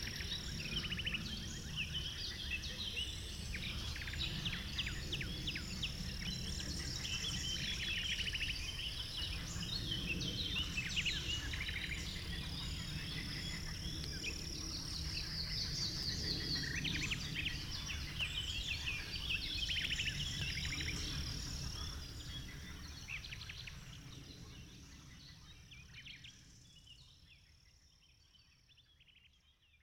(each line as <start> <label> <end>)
0.0 insectes 29.7